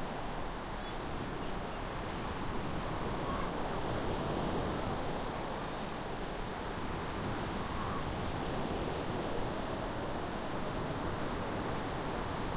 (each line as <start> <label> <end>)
0.0 waves 12.5